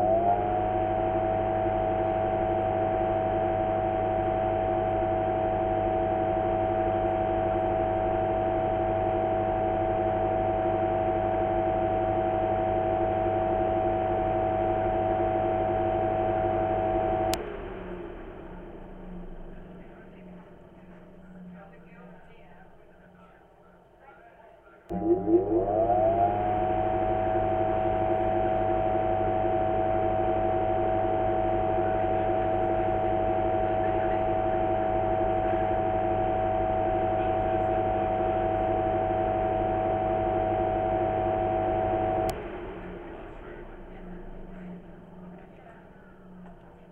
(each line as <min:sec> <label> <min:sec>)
0:00.0 fan accelerating and decelerating 0:23.4
0:24.9 fan accelerating and decelerating 0:46.9
0:43.0 chatter in the background 0:46.9